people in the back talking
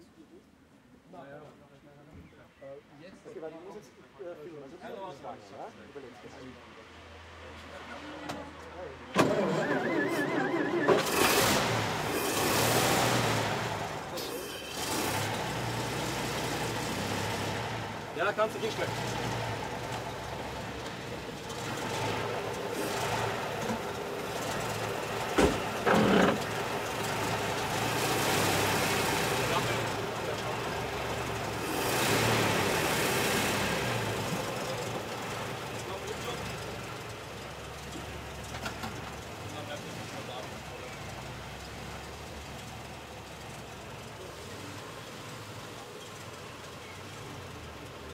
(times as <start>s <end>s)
0.0s 11.5s, 29.3s 31.8s, 34.0s 47.6s